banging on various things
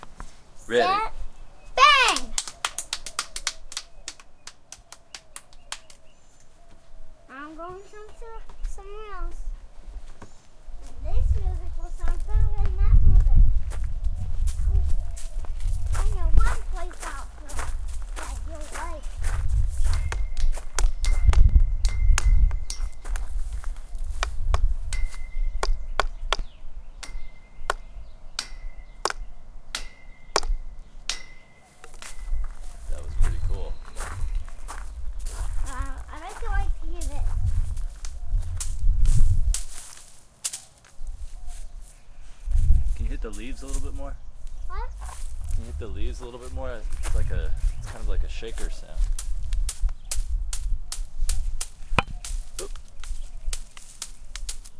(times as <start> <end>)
24.2 32.5